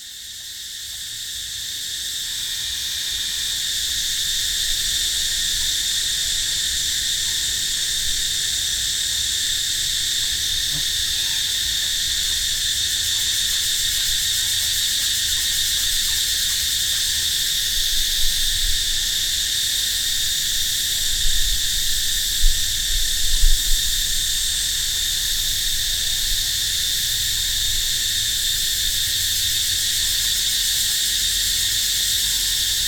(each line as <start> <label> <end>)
0.0 Crickets 32.8